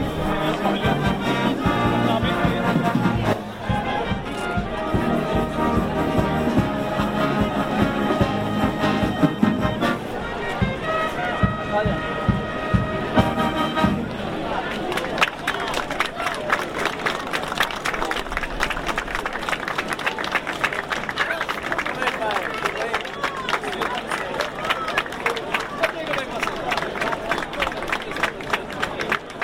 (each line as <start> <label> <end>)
0.0 street orchestra on the stage 29.4